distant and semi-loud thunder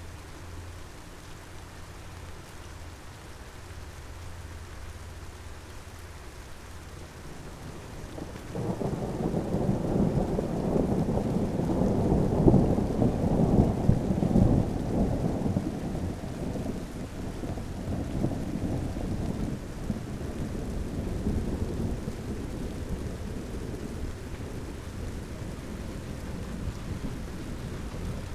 7.2 28.3

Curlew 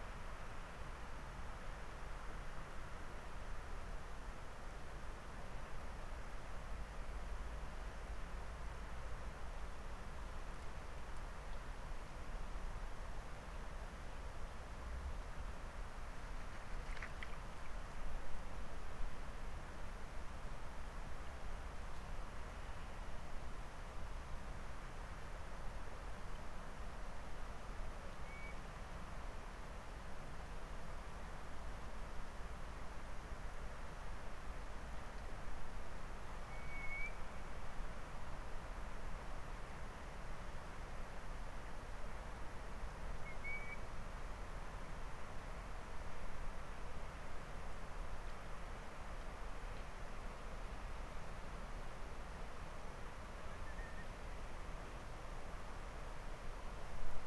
36.5 37.2

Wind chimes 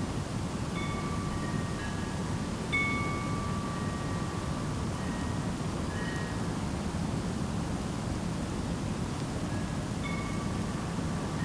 0.7 6.5, 10.0 11.4

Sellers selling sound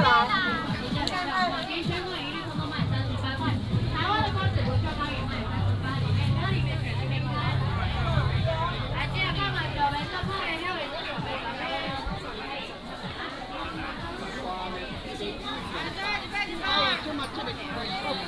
0.0 11.6

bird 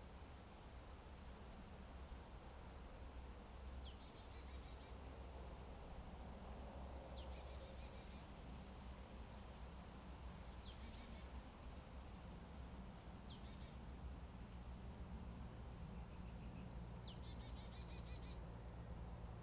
3.5 5.0, 7.0 8.3, 10.4 11.3, 13.0 14.8, 15.9 18.5

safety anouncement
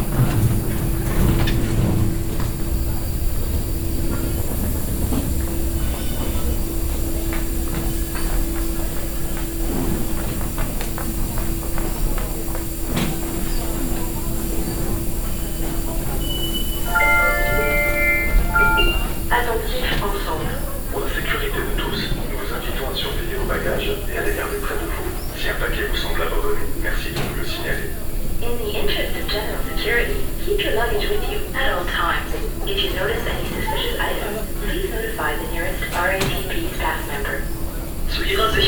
16.9 19.7

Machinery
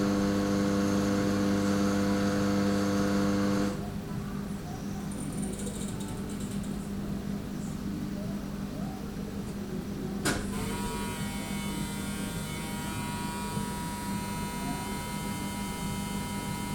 10.2 16.7

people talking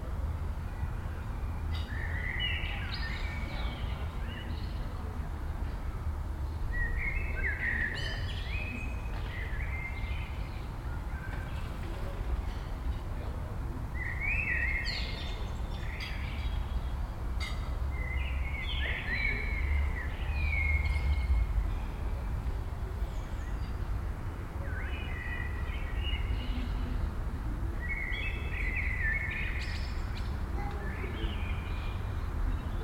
10.8 14.0, 30.5 31.6

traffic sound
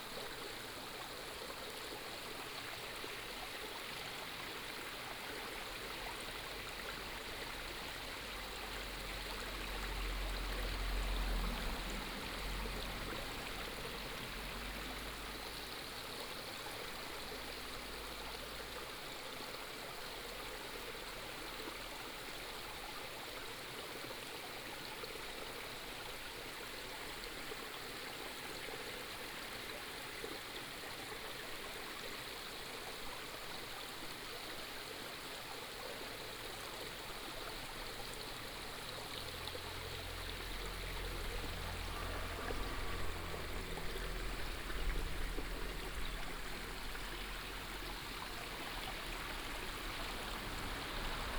37.8 51.3

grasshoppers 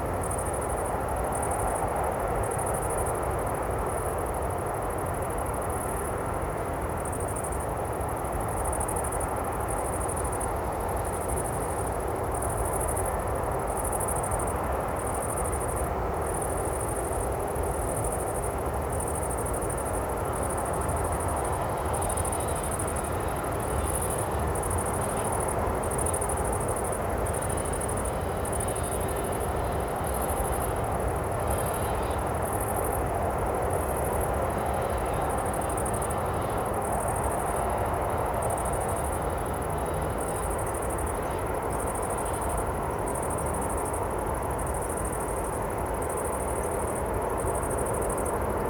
17.6 48.6

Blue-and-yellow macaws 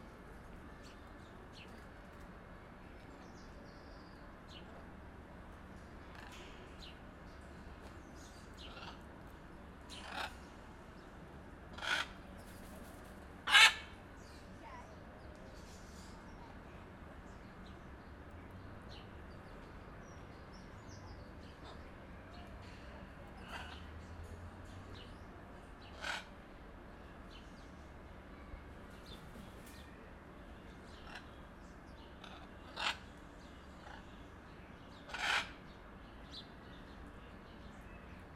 8.6 9.2, 9.9 10.5, 11.7 14.0, 23.3 23.9, 25.8 26.4, 31.0 31.4, 32.2 33.2, 33.8 34.2, 35.0 35.6

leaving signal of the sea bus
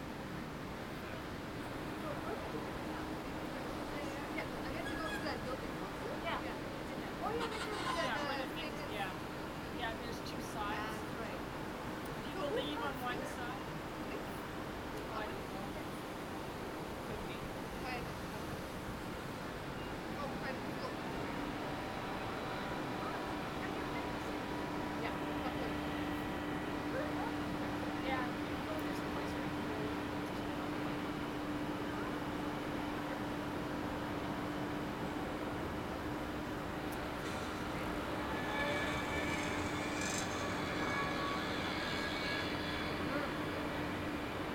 19.8 44.5

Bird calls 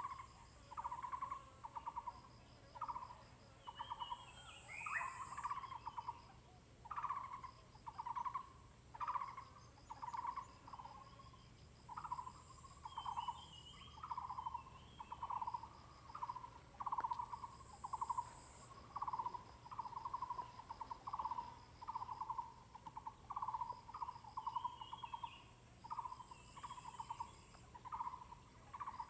3.7 6.2, 11.9 29.0

